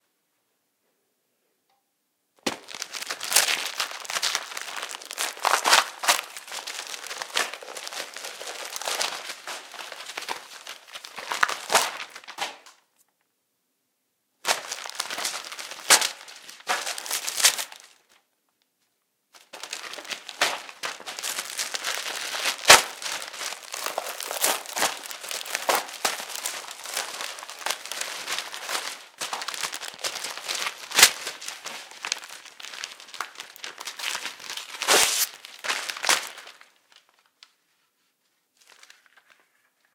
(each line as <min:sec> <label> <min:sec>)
0:02.5 pocket-sized book (or perhaps a newspaper or magazine) being torn apart 0:12.7
0:14.5 pocket-sized book (or perhaps a newspaper or magazine) being torn apart 0:18.0
0:19.4 pocket-sized book (or perhaps a newspaper or magazine) being torn apart 0:36.7